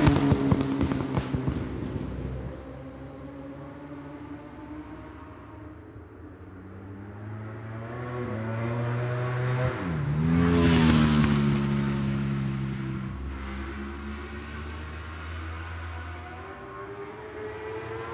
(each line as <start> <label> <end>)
0.0 British Superbikes 18.1